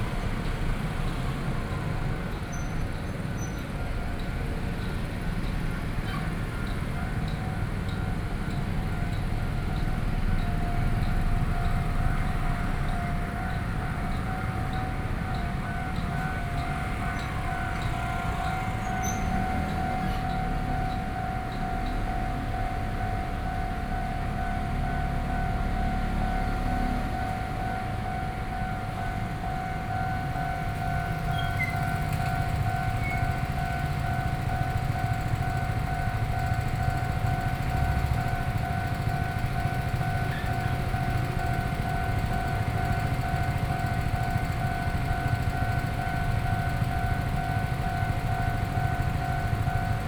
0.0s Traffic Sound 23.4s
0.0s Railroad crossing 50.0s

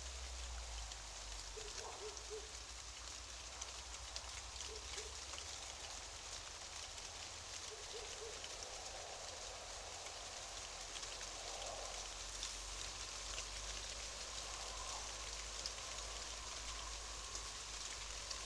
0.0s shivering aspen tree 18.4s

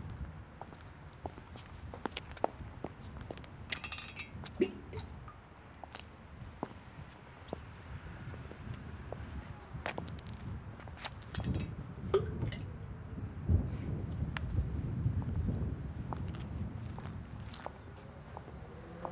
0.0s windy 19.1s
9.7s pebble tangled between the feet so we kicked it 11.7s
17.9s motorcycles roaring 19.1s

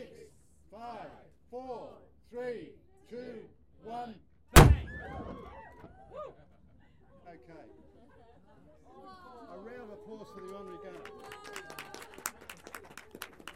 4.6s Timegun sounding 5.5s

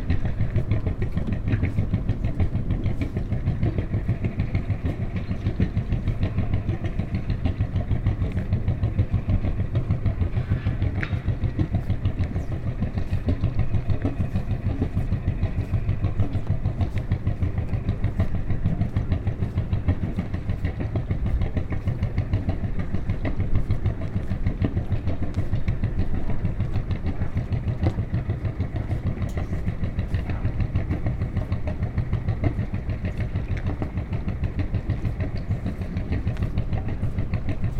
0.0s construction work 37.7s
0.0s loud, rattling boat 37.7s

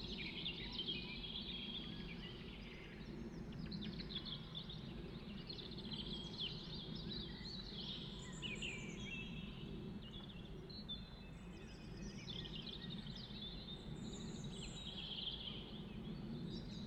0.0s Blackbirds 16.8s
0.0s Pheasants 16.8s
0.0s aircraft 16.8s

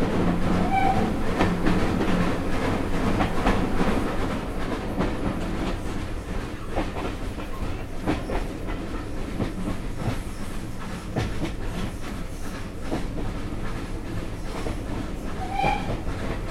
0.0s Steam Train as it passes through a tunnel 16.5s

